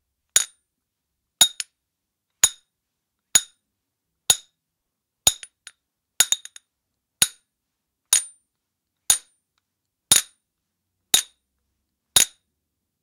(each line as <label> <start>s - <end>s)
Metal hammer striking metal bar 0.4s - 0.6s
Metal hammer striking metal bar 8.2s - 8.4s
Metal hammer striking metal bar 10.1s - 10.4s
Metal hammer striking metal bar 11.2s - 11.4s
Metal hammer striking metal bar 12.2s - 12.4s